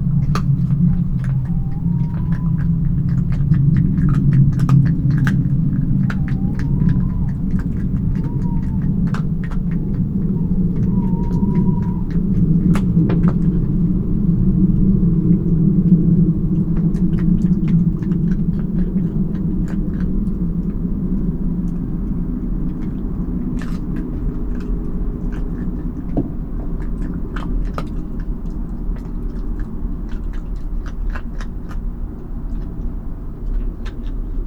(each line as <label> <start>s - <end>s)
fox is munching bones 0.0s - 34.4s
Owls call 0.7s - 13.9s